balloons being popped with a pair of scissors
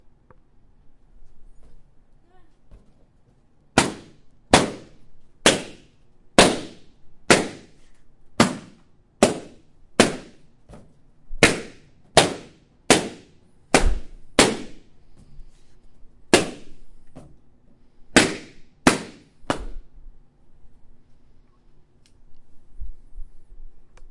3.8 14.8, 16.3 17.3

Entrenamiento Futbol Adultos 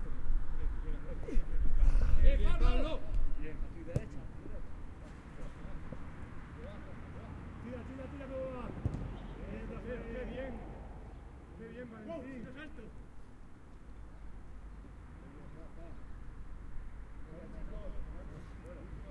0.0 13.4

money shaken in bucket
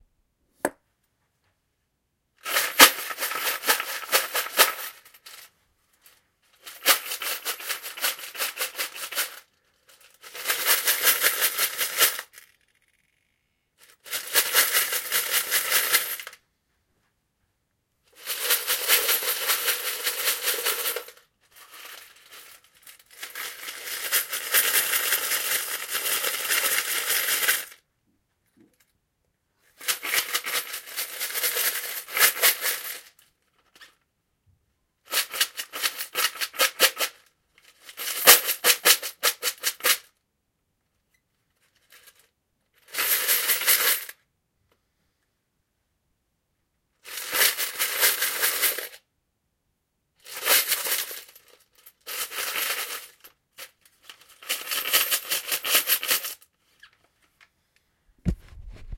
2.4 5.4, 6.6 12.6, 14.0 16.4, 18.2 27.8, 29.8 33.2, 35.1 40.1, 43.0 44.1, 47.1 49.0, 50.2 56.4, 58.3 58.9

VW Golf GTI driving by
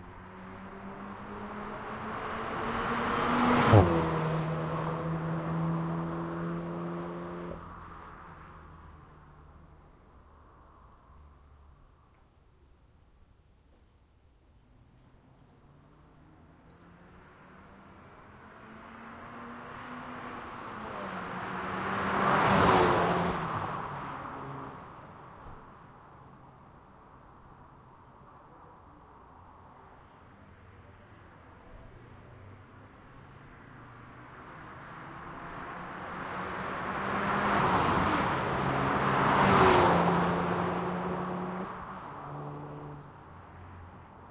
34.1 43.0

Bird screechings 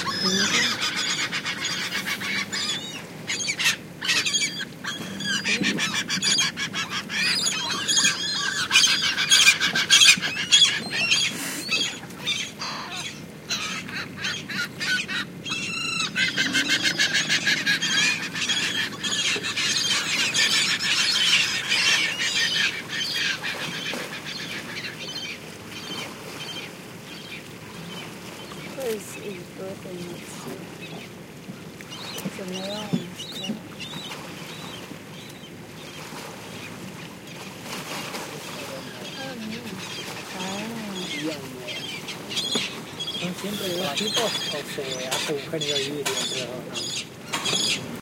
0.0 26.7

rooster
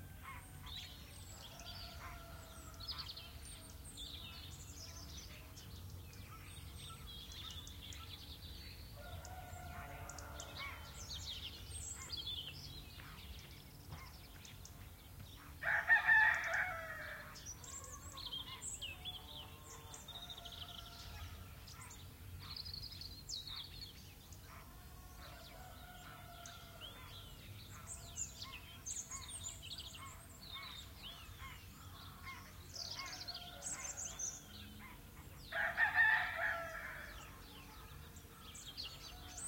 0.1 3.2, 9.0 11.1, 15.6 21.4, 35.5 37.6

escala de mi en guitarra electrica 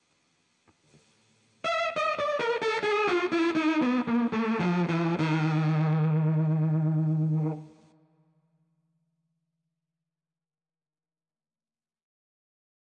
1.6 7.9

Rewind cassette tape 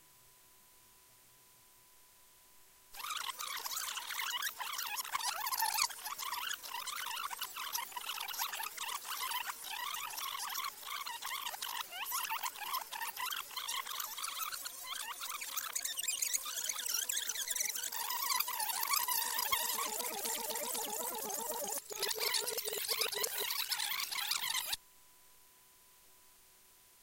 17.9 24.8

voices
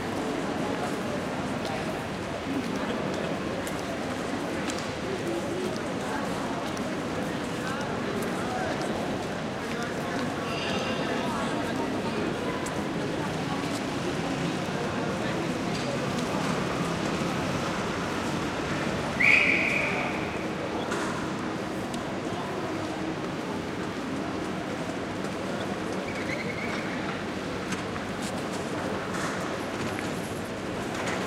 0.2 24.0

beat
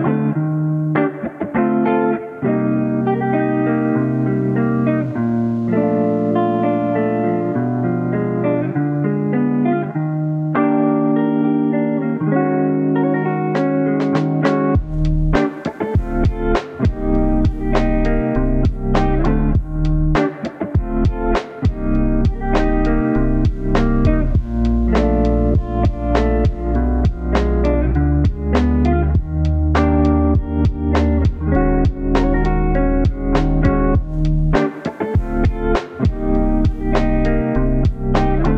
13.6 38.5

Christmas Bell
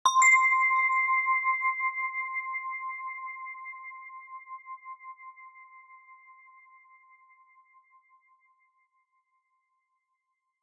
0.1 1.9

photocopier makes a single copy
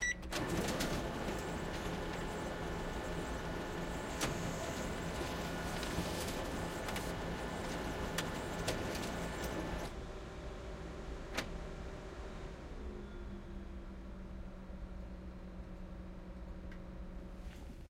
0.4 9.9

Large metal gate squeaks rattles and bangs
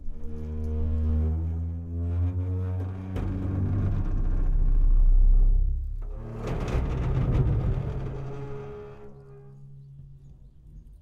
0.7 5.2, 6.1 10.1

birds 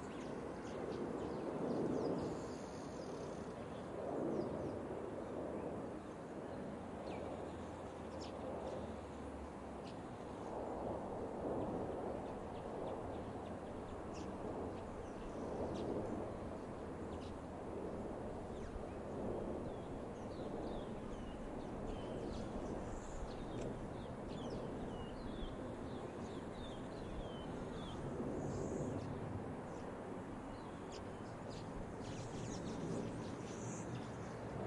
11.9 34.6

